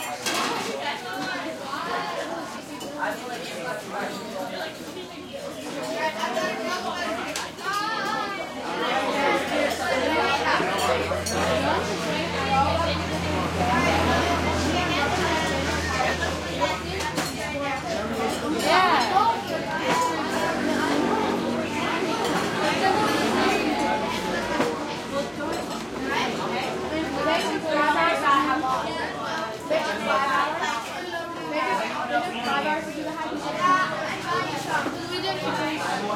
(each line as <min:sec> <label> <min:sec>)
0:00.0 heavy walla 0:36.1
0:10.9 passing traffic 0:29.2